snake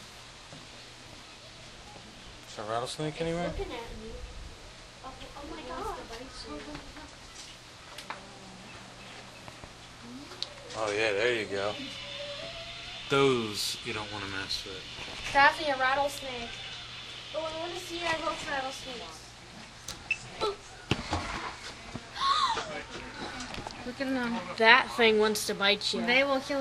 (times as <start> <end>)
8.1 19.3